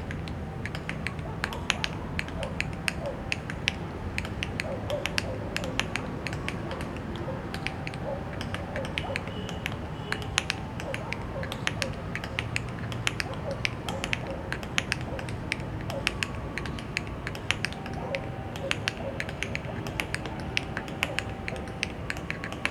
Exercise tap 0.0 - 22.7

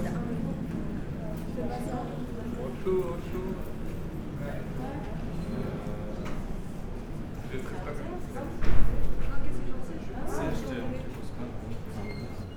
Students are discussing 0.0 - 12.5

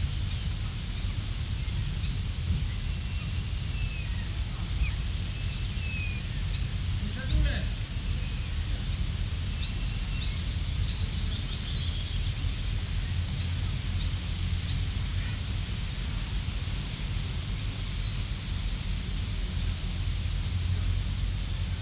grasshoppers 0.0 - 21.8
voices of people 6.9 - 8.9

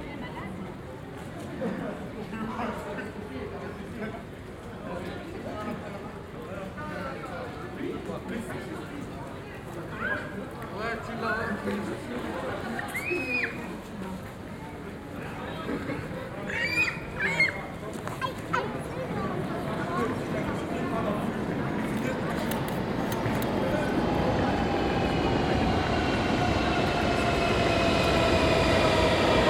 Conversations 0.0 - 29.4
metro 13.9 - 29.4
plane 18.3 - 29.4

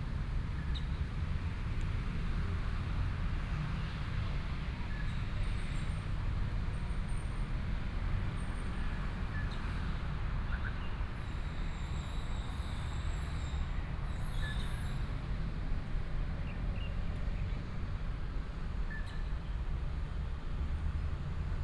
The train runs through 0.0 - 21.6

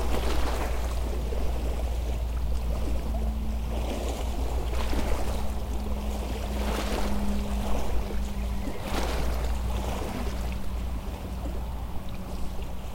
Two boats passing by on the Seine river 0.0 - 12.9
a barge coming from Lyon 0.0 - 12.9

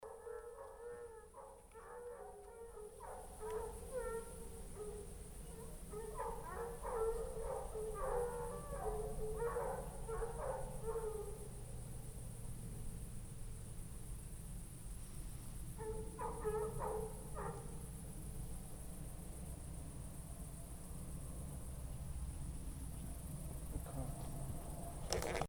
howling dogs 0.0 - 11.6
howling dogs 15.8 - 17.9

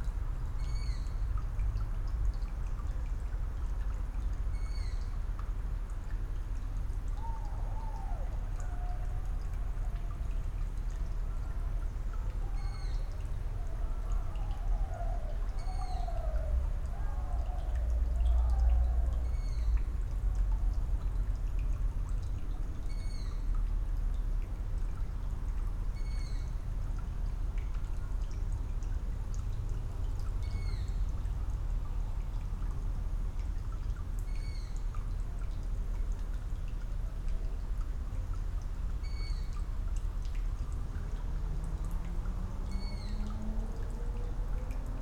water dripping from a leaking tap 0.0 - 45.0
teenage owl (Asio otus, Waldohreule) is calling 7.1 - 10.3
teenage owl (Asio otus, Waldohreule) is calling 11.2 - 19.8

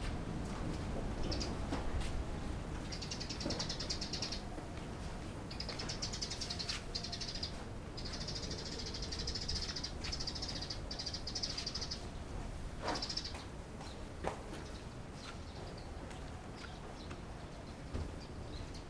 Wind 0.0 - 18.8

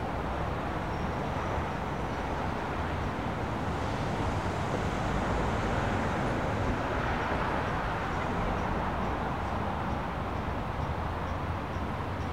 Cars, trucks and busses 0.0 - 12.3
Pedestrians 0.0 - 12.3

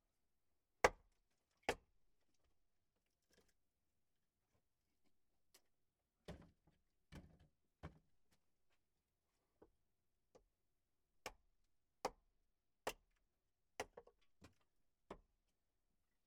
chopping wood in the shed 0.8 - 1.9
chopping wood in the shed 11.2 - 15.4

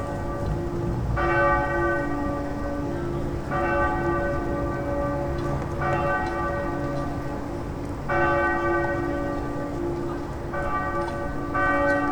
ringing of the bells 0.0 - 12.1

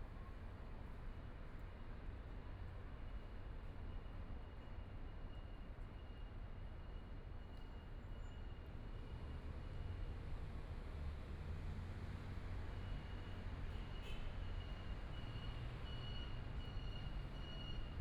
Pedestrian 0.0 - 18.0

